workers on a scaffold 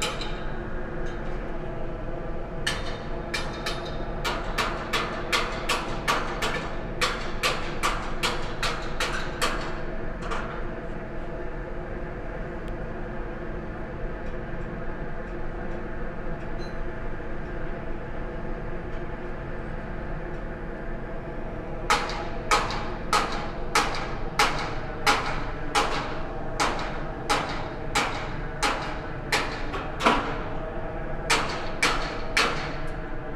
21.7s 33.2s

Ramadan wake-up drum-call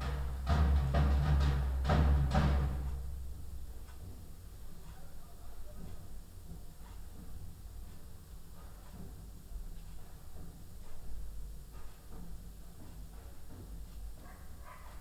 0.0s 3.2s

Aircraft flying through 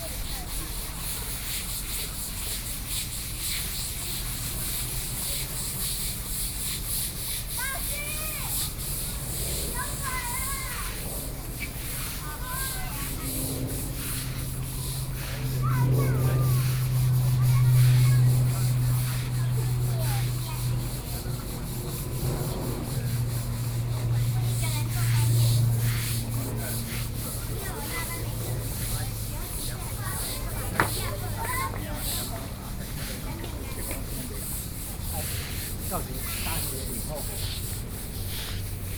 12.2s 28.6s

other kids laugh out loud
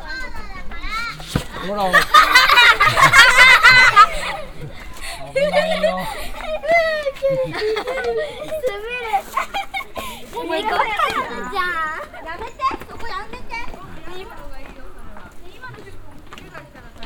1.6s 11.2s

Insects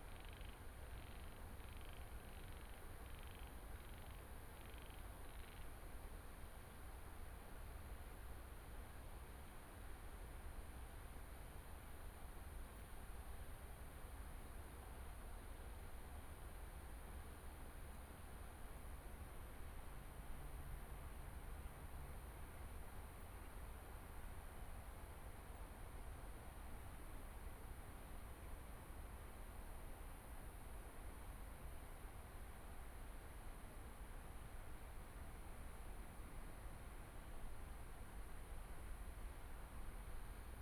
0.1s 5.7s

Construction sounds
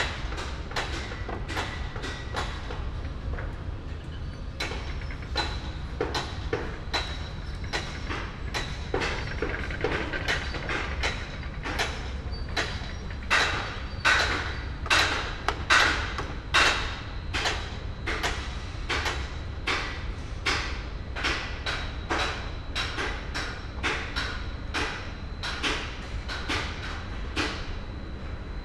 0.1s 18.2s

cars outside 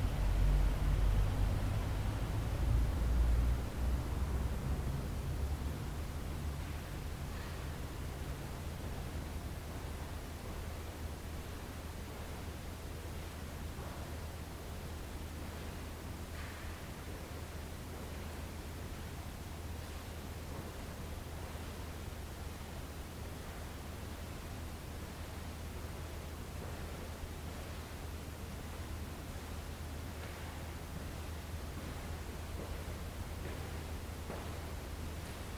0.0s 9.0s

